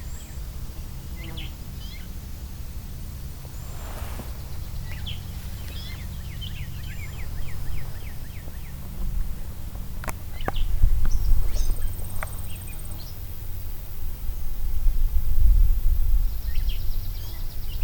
airplane 0:00.0 - 0:17.8

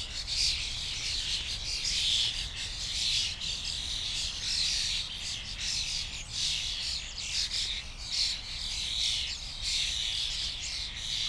flock of starlings gathering in a bush, starting to chat 0:00.0 - 0:11.2

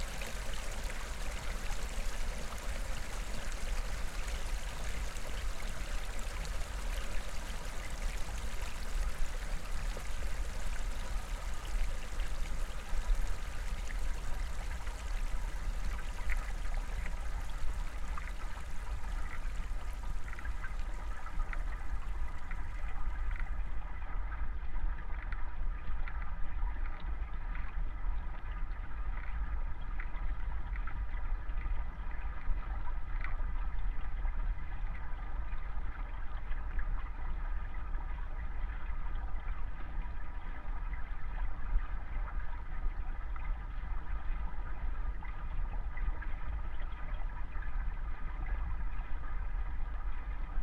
little waterfall at the river 0:00.0 - 0:23.6

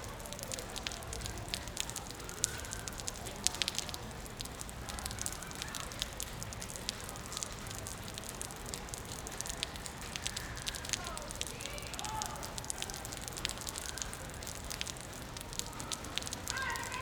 car parks under the stream of water 0:00.0 - 0:17.0
water dripping on the road 0:00.0 - 0:17.0

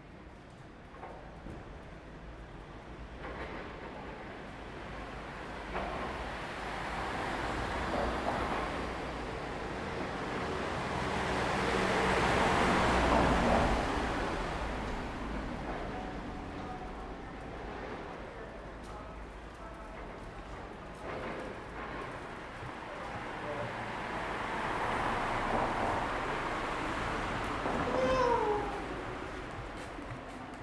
city bus 0:00.0 - 0:30.6
train rode by 0:00.0 - 0:30.6
people walking by 0:14.9 - 0:30.6
nearby construction 0:27.7 - 0:29.1

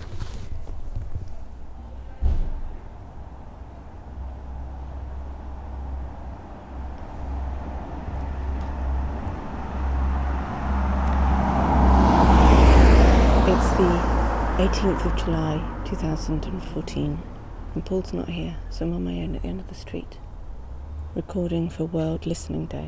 bike 0:00.0 - 0:14.7
Cars 0:00.0 - 0:22.8
pedestrians 0:00.0 - 0:22.8
van 0:00.0 - 0:22.8

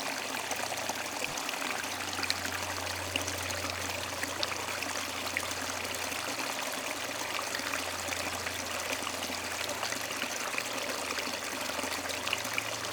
river, flowing in a big wood jam 0:00.0 - 0:12.9

